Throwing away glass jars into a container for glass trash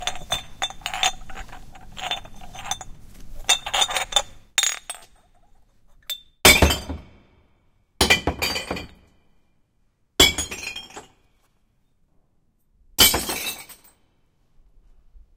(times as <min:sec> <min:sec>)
0:08.0 0:09.1, 0:13.0 0:13.9